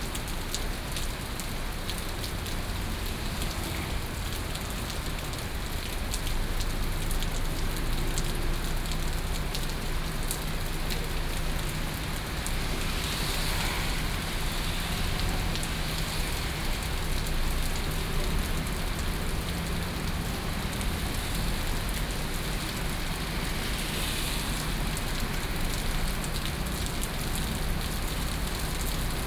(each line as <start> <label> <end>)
0.0 Heavy rain 29.2